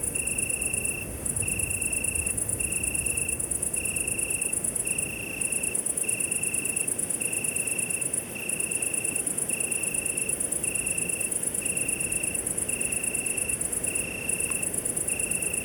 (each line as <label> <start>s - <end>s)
crickets 0.0s - 15.6s